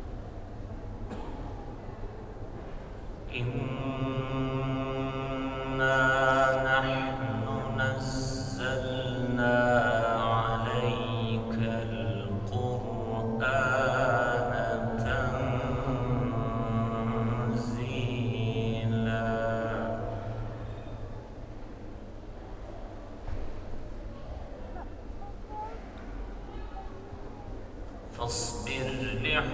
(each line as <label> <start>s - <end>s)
Quran recitation 3.3s - 21.4s
Quran recitation 28.1s - 29.5s